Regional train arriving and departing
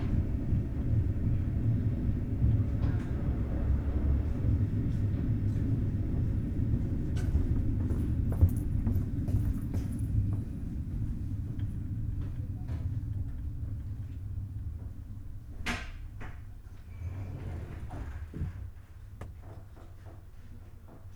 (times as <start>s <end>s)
0.0s 15.6s